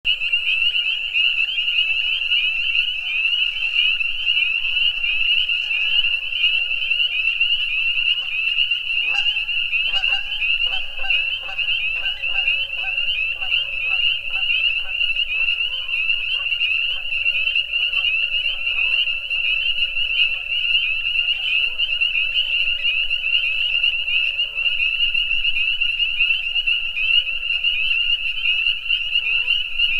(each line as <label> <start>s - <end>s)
Frogs 0.1s - 29.9s